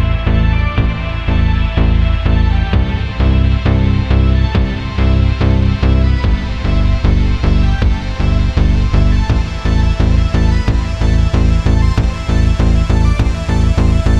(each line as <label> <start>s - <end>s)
Synthesizer 0.0s - 14.1s